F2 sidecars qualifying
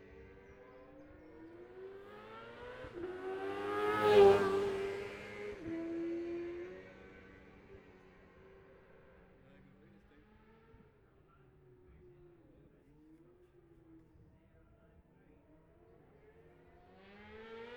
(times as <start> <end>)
0.1 10.7